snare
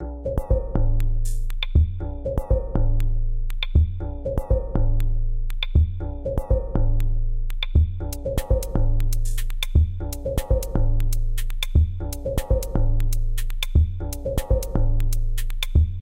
0:08.4 0:09.8

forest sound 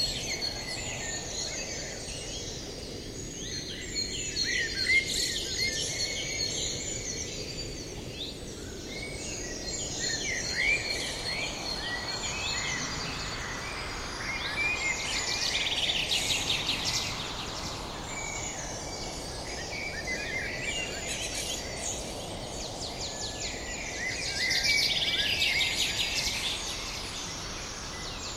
0:08.8 0:28.3

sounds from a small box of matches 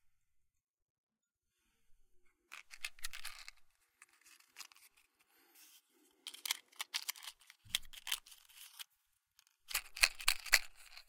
0:02.5 0:11.0

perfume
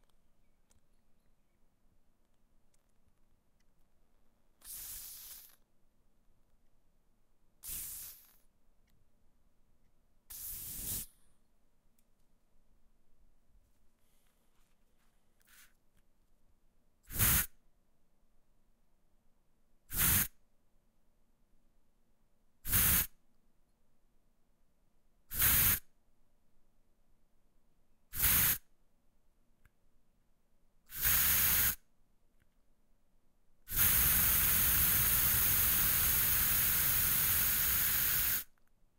0:04.6 0:05.6, 0:07.6 0:08.4, 0:10.3 0:11.2, 0:28.1 0:28.6, 0:30.9 0:31.8, 0:33.7 0:38.5

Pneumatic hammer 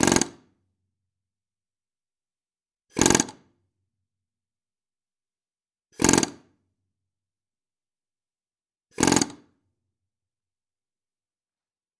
0:00.0 0:00.5, 0:02.9 0:03.5, 0:06.0 0:06.5, 0:08.9 0:09.6

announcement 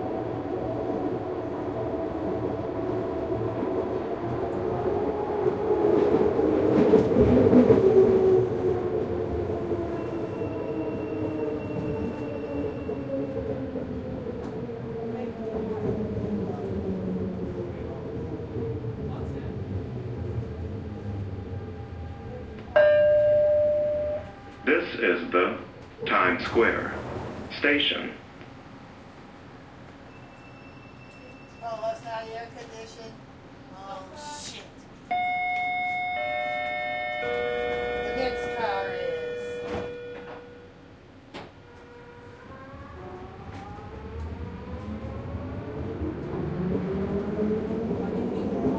0:22.8 0:28.3, 0:35.1 0:40.8

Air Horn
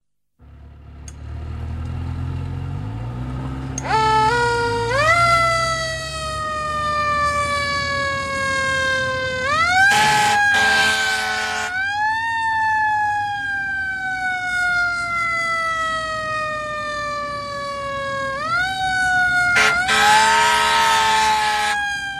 0:09.8 0:11.8, 0:19.5 0:22.1

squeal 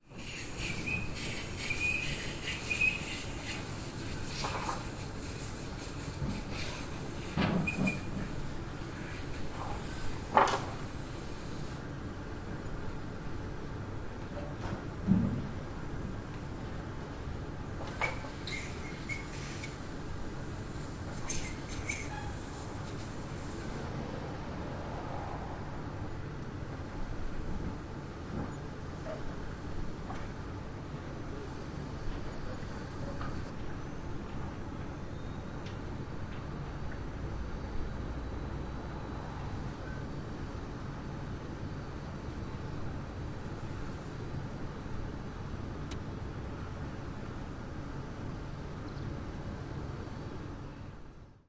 0:00.2 0:03.6, 0:07.6 0:08.2, 0:18.0 0:19.8, 0:21.2 0:22.5, 0:35.0 0:35.6

